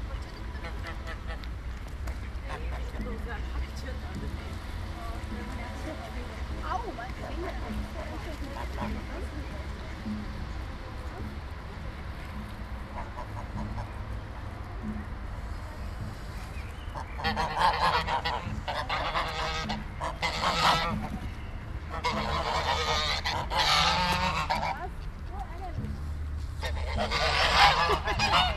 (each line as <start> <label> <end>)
0.0 schwäne an der promenade 28.5